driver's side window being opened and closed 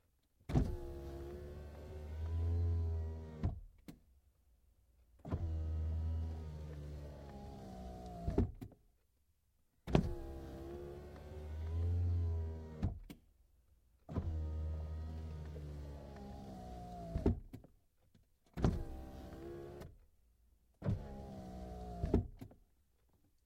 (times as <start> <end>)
0.5 4.0, 5.2 8.7, 9.9 13.2, 14.1 17.7, 18.5 20.0, 20.8 22.6